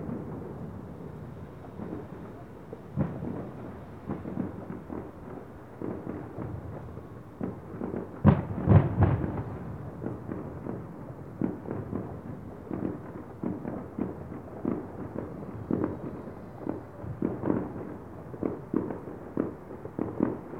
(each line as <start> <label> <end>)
0.0 fireworks 20.5